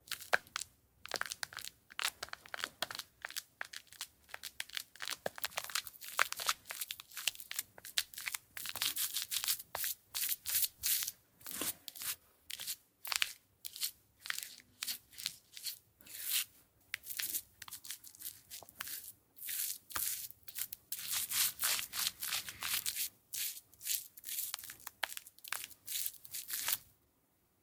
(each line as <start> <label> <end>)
1.6 applying shaving cream 26.9